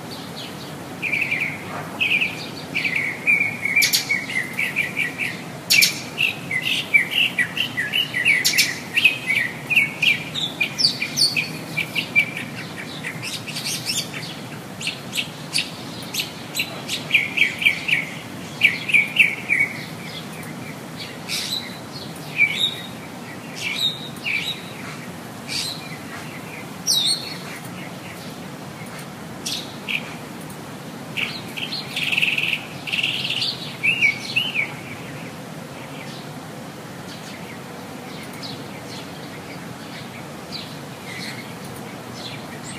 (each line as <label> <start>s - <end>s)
mockingbird sings like crazy 1.0s - 28.4s
mockingbird sings like crazy 31.2s - 35.3s